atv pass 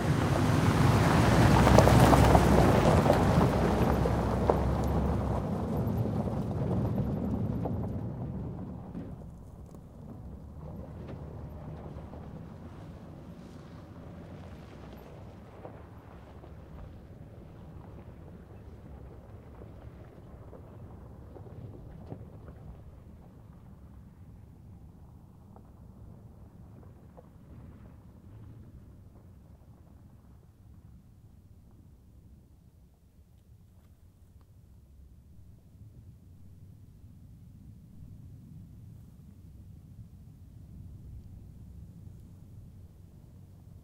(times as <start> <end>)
0.0 9.5